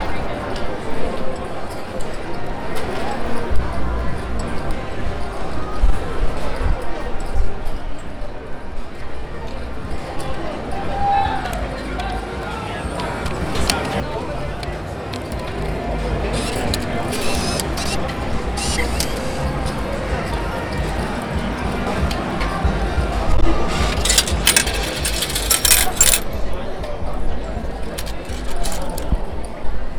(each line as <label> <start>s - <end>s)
Slot Machines 11.7s - 26.4s
Slot Machines 27.8s - 29.2s